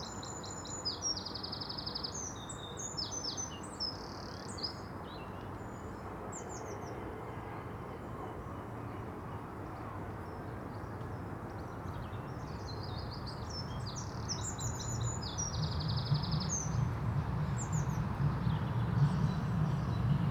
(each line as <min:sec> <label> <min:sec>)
0:05.5 plane 0:20.3